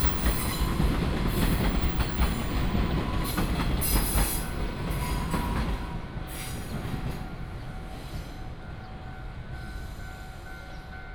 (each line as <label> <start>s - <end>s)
Walk along the tracks 0.0s - 11.1s
train runs through 0.0s - 11.1s